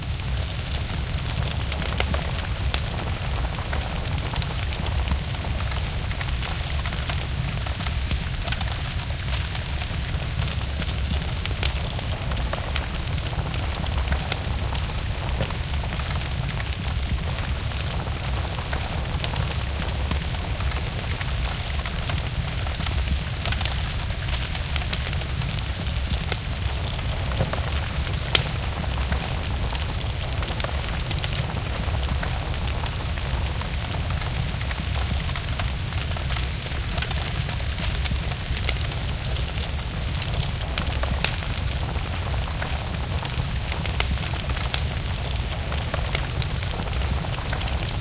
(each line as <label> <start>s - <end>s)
Burning-Room 0.0s - 48.0s